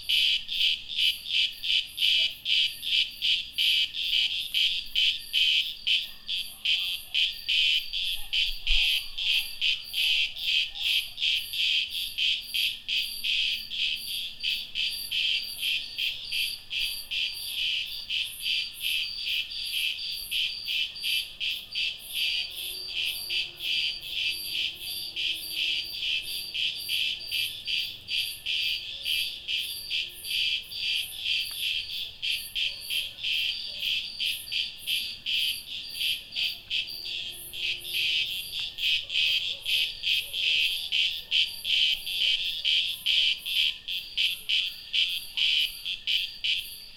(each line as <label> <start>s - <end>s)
Cicadas singing 9.4s - 46.9s